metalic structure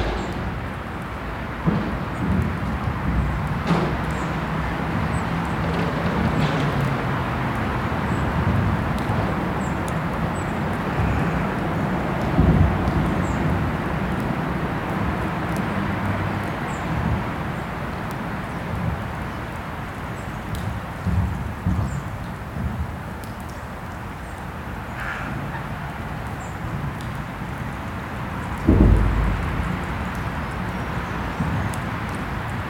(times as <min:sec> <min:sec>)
0:00.0 0:02.4, 0:28.6 0:31.0